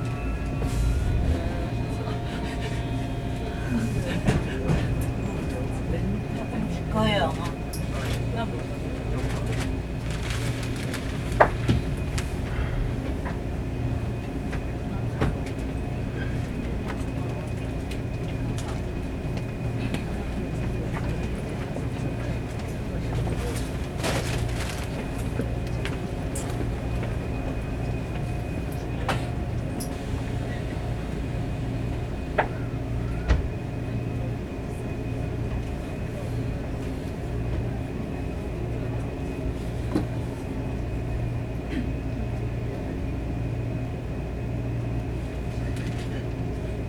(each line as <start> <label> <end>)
0.0 train 46.8